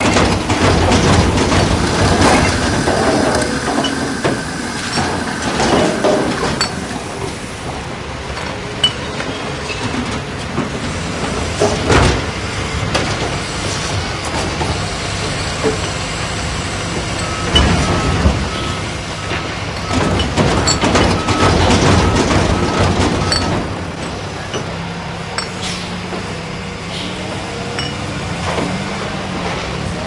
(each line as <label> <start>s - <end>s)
containers 0.0s - 7.6s
garbage trucks 0.0s - 30.0s